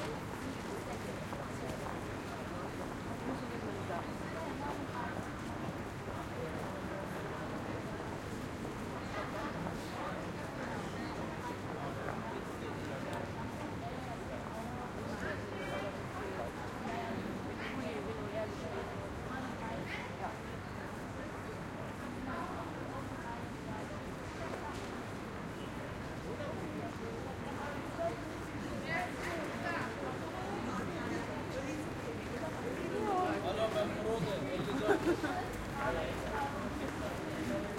0.0s People passing by, talking 37.7s

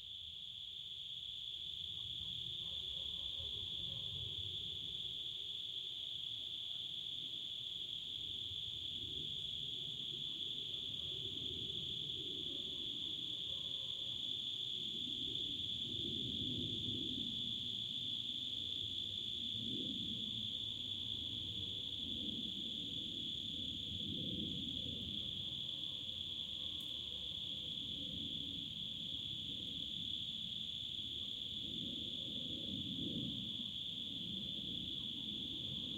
0.0s crickets singing 35.9s

